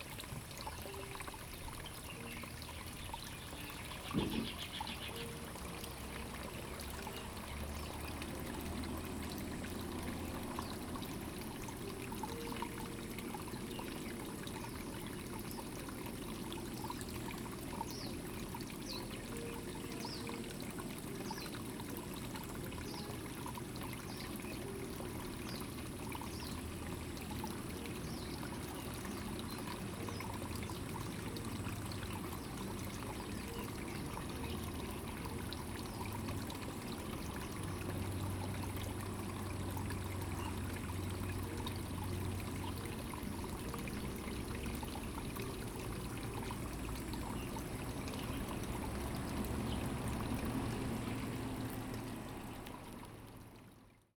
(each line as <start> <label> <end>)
0.0 water 54.1
2.2 Bird calls 5.5